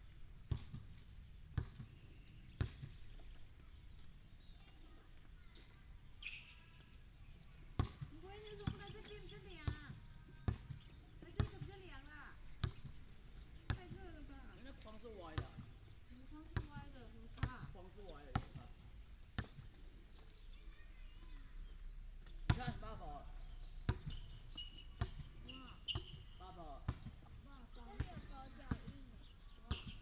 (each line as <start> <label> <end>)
0.5 play basketball 3.7
7.5 play basketball 20.3
22.3 play basketball 30.0